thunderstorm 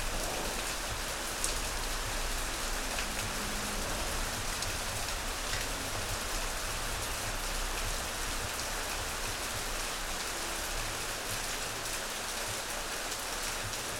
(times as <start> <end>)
0.0 9.8